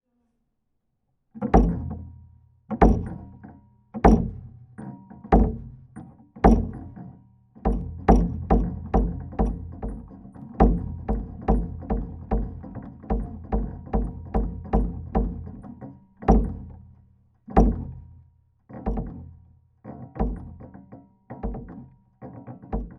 Kicking kick 1.4 - 2.0
Kicking kick 2.8 - 3.3
Kicking kick 16.3 - 16.7
Kicking kick 17.6 - 18.0

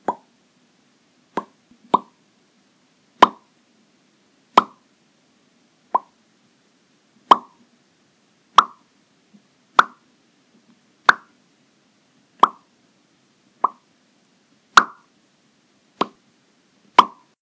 Popping noises of varying volume 0.0 - 0.3
Popping noises of varying volume 1.3 - 2.2
Popping noises of varying volume 3.2 - 3.5
Popping noises of varying volume 4.5 - 4.9
Popping noises of varying volume 5.9 - 6.2
Popping noises of varying volume 7.2 - 7.7
Popping noises of varying volume 8.5 - 10.0
Popping noises of varying volume 11.0 - 11.4
Popping noises of varying volume 12.4 - 12.7
Popping noises of varying volume 13.6 - 13.9
Popping noises of varying volume 14.7 - 15.1
Popping noises of varying volume 16.0 - 16.2
Popping noises of varying volume 16.9 - 17.4

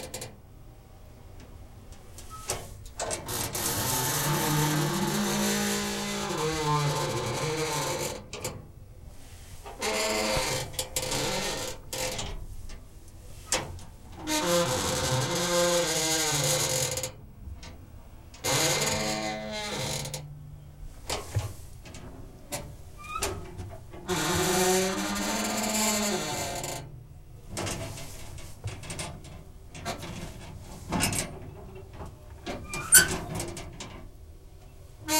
metal locker open close creaks slow groan 2.2 - 8.7
metal locker open close creaks slow groan 9.7 - 12.5
metal locker open close creaks slow groan 13.4 - 17.2
metal locker open close creaks slow groan 18.4 - 20.4
metal locker open close creaks slow groan 21.1 - 34.1

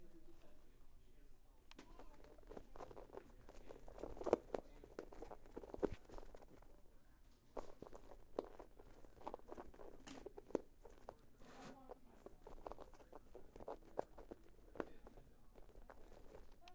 mashing rubber balls together 1.7 - 16.7

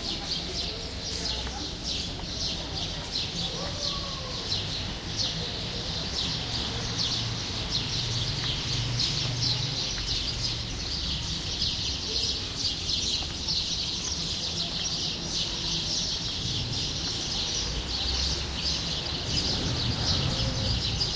Birds 0.0 - 21.1

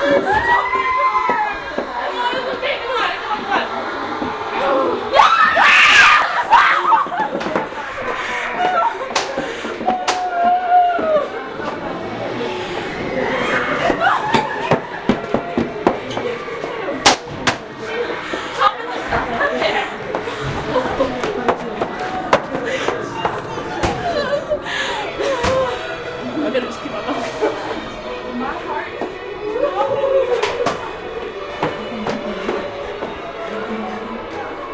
walking through a high end Haunted House 0.0 - 34.7
Girls have high pitched screams 0.3 - 1.7
Girls have high pitched screams 5.1 - 7.0

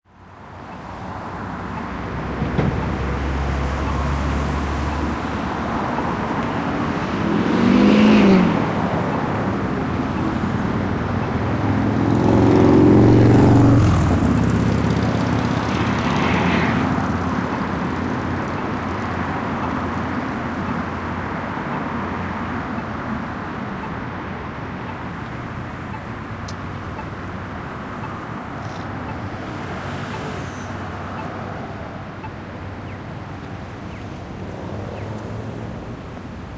traffic 0.0 - 36.5

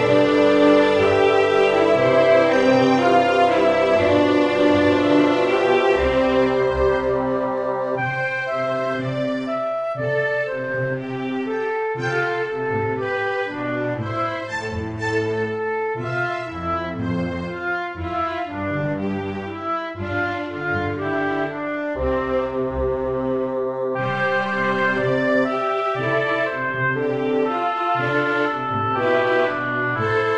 musical motifs 0.0 - 30.3

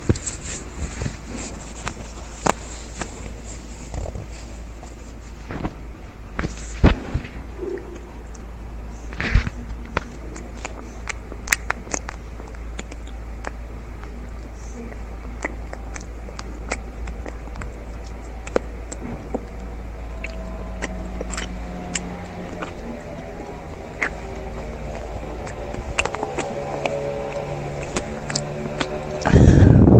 orgasm 14.4 - 29.9

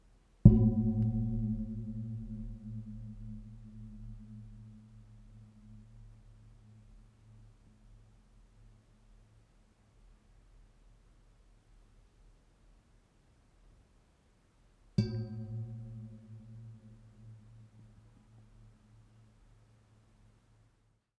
striking a metal pipe 0.5 - 5.8
striking a metal pipe 15.0 - 17.4

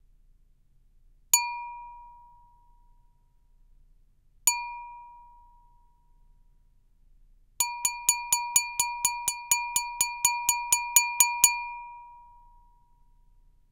Wine glass strikes 1.4 - 2.0

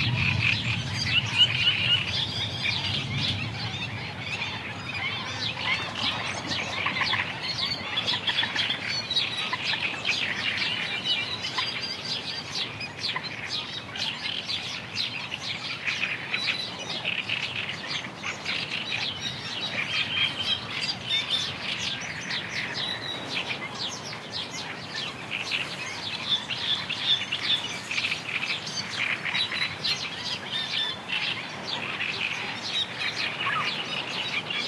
distant thunder 0.0 - 7.3
rain drops 0.0 - 11.0
Coot 0.0 - 11.8
Black-winged Stilt 0.0 - 34.6
Great Reed Warbler 0.0 - 34.6
wind 0.0 - 34.6

